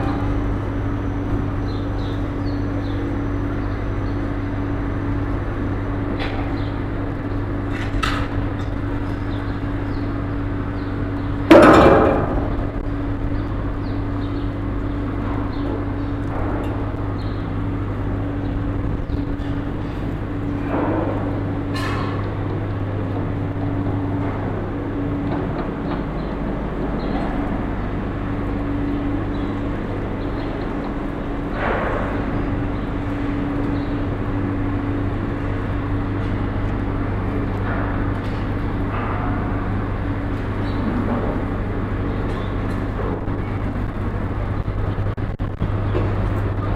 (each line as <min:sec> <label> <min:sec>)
0:00.0 bigger house construction 0:46.7